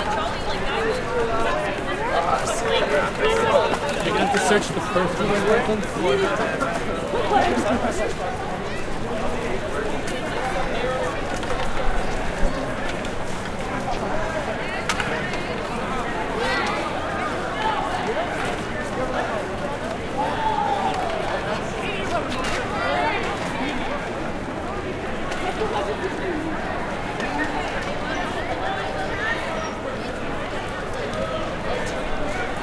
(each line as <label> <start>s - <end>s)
crowd ext medium drunk 0.0s - 32.6s